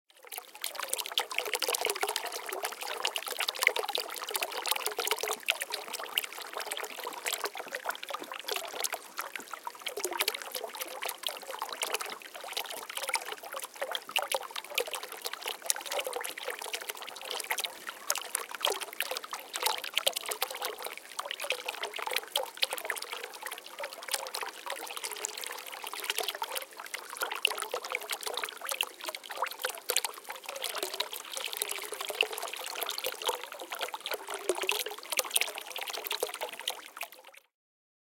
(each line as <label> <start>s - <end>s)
Medium Speed Dropping Water 0.1s - 37.5s